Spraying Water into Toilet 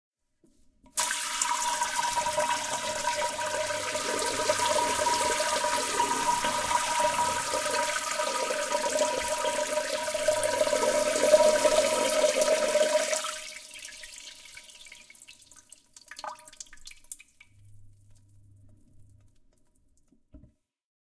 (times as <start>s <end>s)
1.0s 17.4s